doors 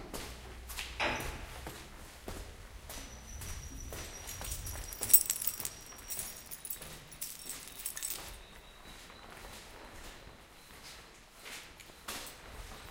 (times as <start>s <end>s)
3.1s 8.4s